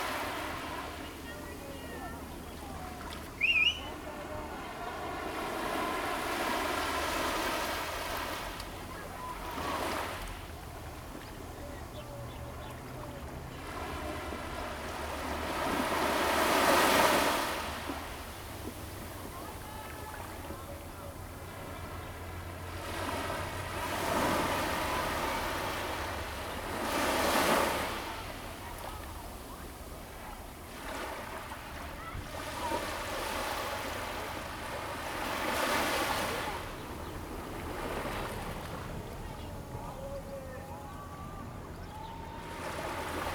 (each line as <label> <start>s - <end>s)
waves 0.0s - 43.3s